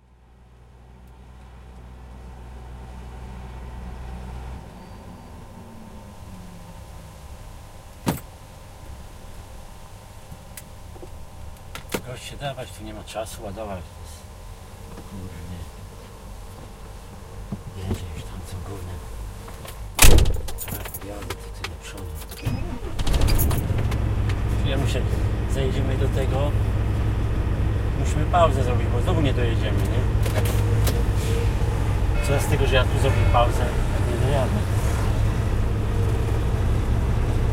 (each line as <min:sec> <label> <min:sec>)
0:00.0 engine 0:37.5
0:00.0 truck 0:37.5
0:00.0 wind 0:37.5
0:01.0 trator 0:08.3
0:12.0 voice 0:14.3
0:15.0 voice 0:15.8
0:17.7 voice 0:19.1
0:20.0 trator 0:37.5
0:20.7 voice 0:22.5
0:22.2 forklift 0:37.5
0:24.6 voice 0:26.6
0:27.9 voice 0:30.6
0:32.2 voice 0:34.7